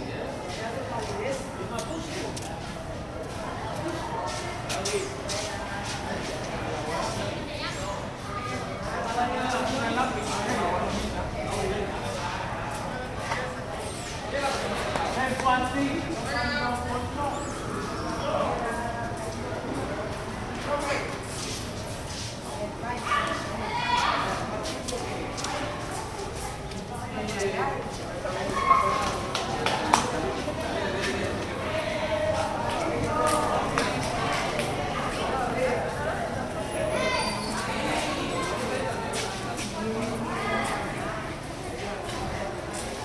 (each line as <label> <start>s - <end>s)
Students finishing their day 0.0s - 43.0s